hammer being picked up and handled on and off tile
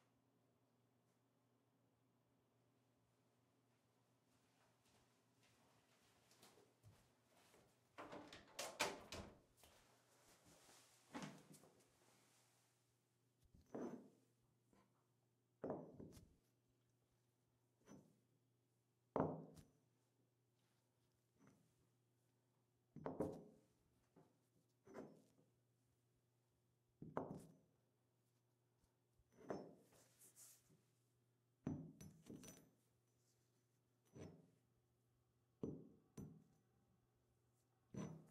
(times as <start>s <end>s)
13.4s 15.0s, 17.8s 18.3s, 22.9s 25.4s, 29.2s 30.8s, 31.6s 34.7s, 35.6s 36.7s, 37.9s 38.3s